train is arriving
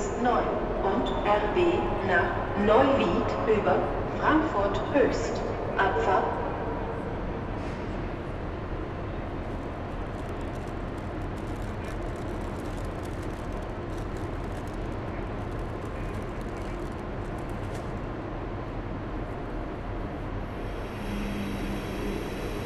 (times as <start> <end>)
0.0 12.5, 17.9 22.6